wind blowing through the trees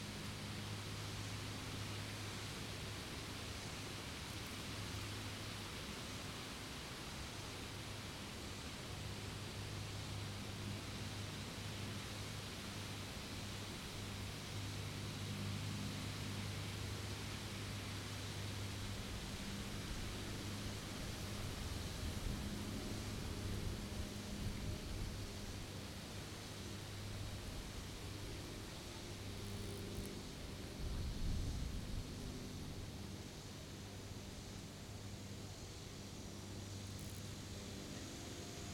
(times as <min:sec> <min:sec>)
0:18.5 0:34.9